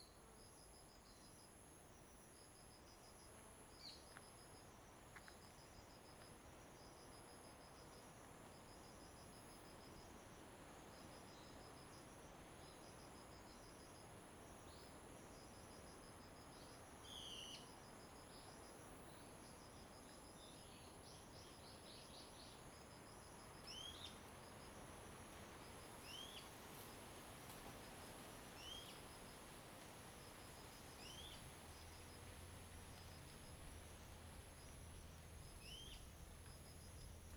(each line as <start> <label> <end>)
0.0 Wind 37.3
35.6 Birds singing 36.1